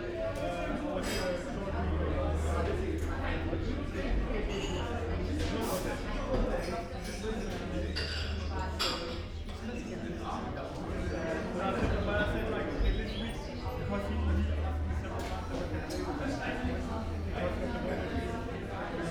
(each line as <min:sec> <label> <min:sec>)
0:00.0 crowded cafe ambience 0:19.1